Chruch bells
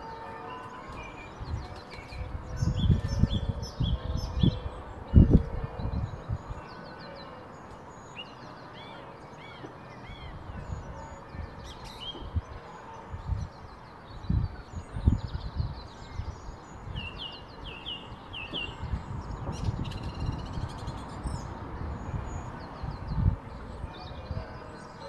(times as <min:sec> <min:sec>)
0:00.0 0:02.2